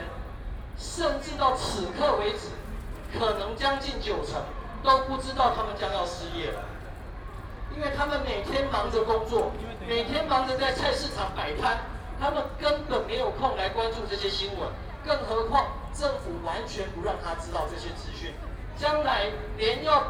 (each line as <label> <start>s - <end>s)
People and students 0.0s - 20.0s